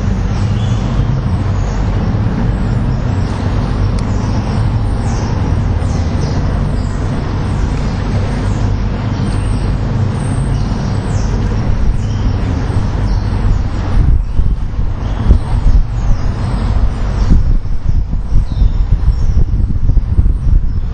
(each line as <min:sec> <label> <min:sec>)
0:00.0 river laps away 0:13.9
0:00.0 thrum of a passing riverboat 0:20.7
0:00.0 Starlings 0:20.9